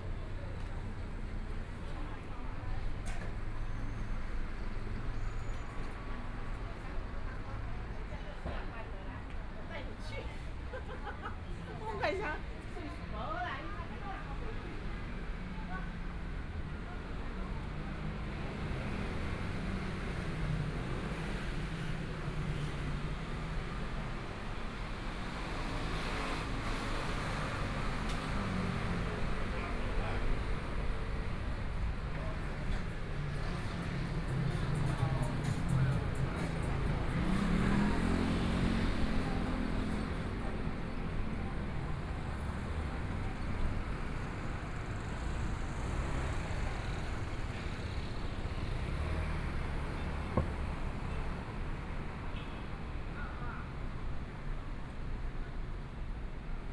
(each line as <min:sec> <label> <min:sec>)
0:00.0 Traffic Sound 0:56.7
0:27.6 Walking on the road 0:52.2